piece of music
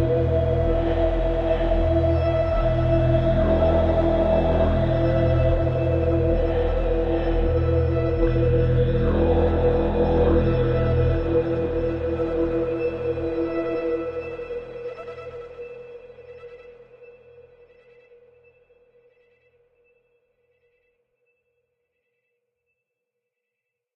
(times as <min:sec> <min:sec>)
0:00.0 0:17.9